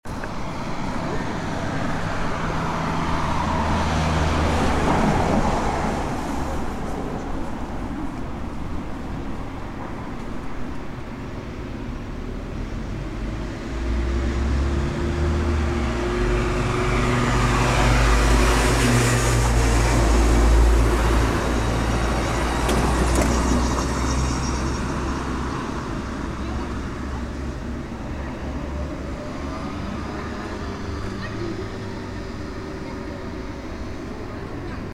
0.0s Traffic noise under tunnel 34.9s

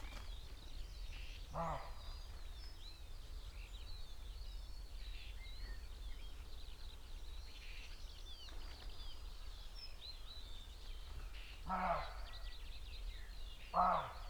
1.5s crow 2.1s
1.5s roe deer 2.1s
11.6s crow 12.5s
11.7s roe deer 12.3s
13.6s crow 14.2s
13.7s roe deer 14.2s

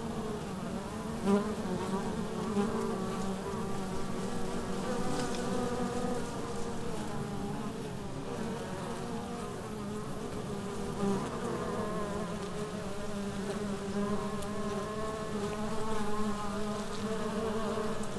0.0s Bees 18.1s

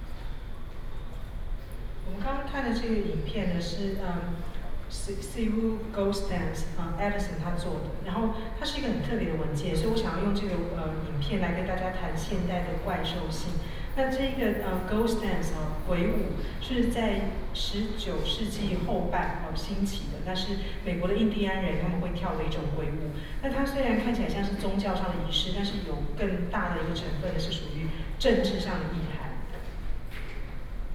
2.0s Curators are speech 29.8s

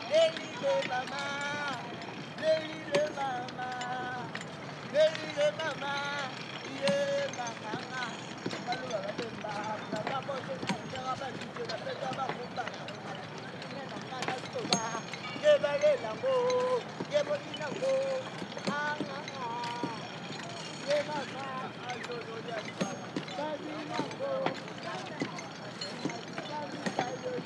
0.0s singing 12.6s
13.6s singing 20.1s
20.8s singing 27.4s

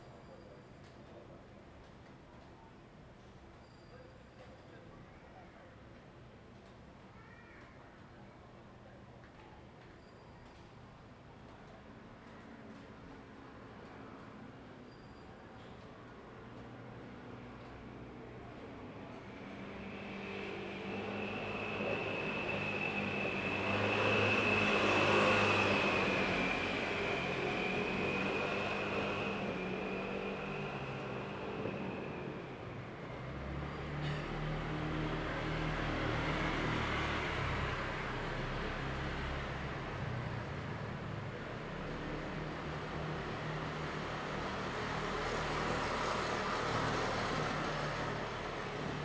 18.8s Traffic Sound 49.0s

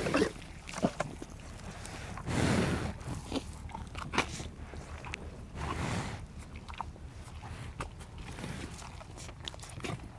0.0s cow is eating apples 10.1s

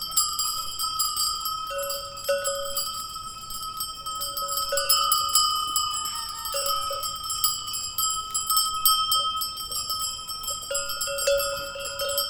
0.0s goat bells 12.2s

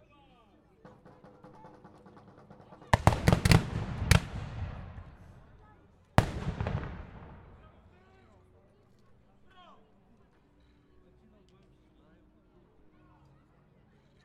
2.9s Battle 5.6s
6.2s Battle 7.9s

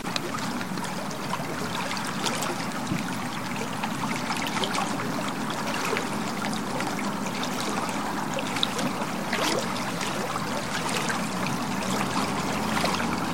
0.0s River Suir 13.3s

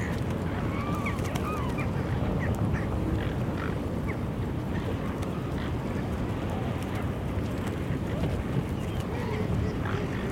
0.0s birds on the frozen sea 10.3s

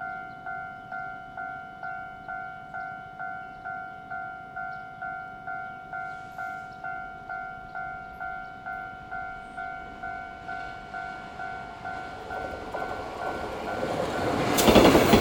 2.2s Trains traveling through 15.2s
9.7s Traffic Sound 15.2s

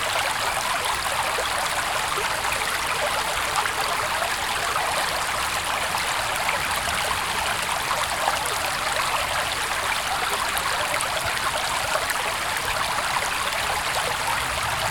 0.0s Highland Water 14.9s

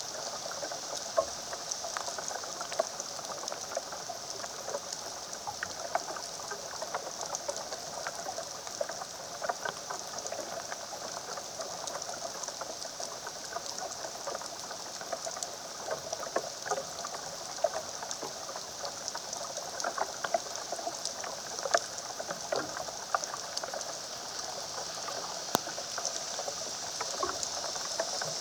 0.0s rain falling on the branches of a large oak tree 28.4s

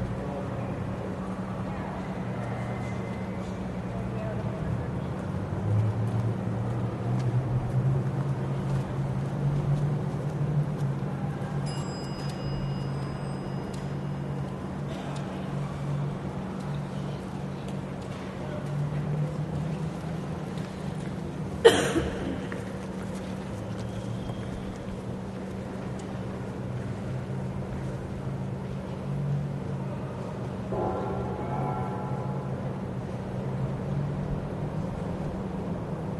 0.0s Commuters transferring on and off and between busses 36.1s
11.5s Elevator (with bell) 16.6s

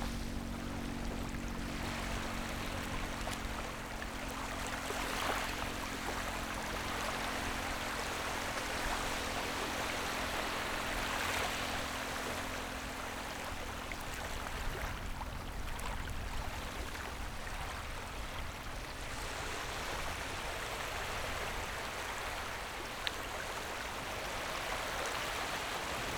0.0s waves 26.1s

